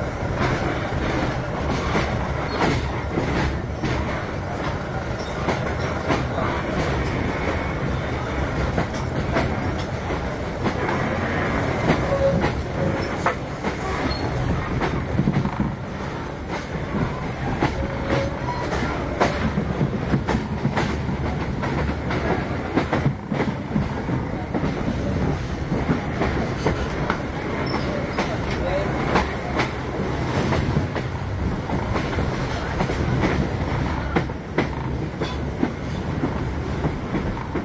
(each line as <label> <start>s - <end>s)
train moving clacks creaks tracks 0.0s - 37.6s